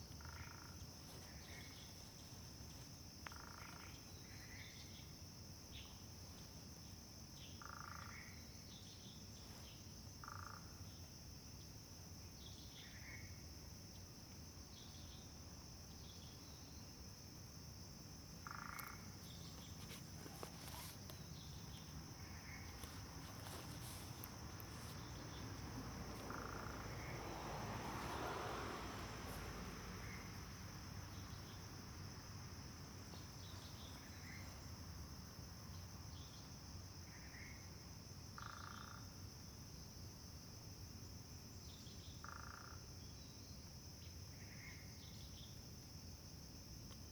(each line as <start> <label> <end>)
0.2 Traffic Sound 3.7
18.3 Traffic Sound 35.2